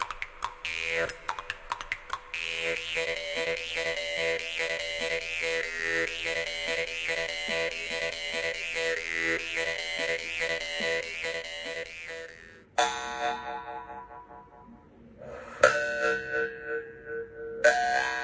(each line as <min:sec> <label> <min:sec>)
0:00.0 Jaw Harp 0:18.2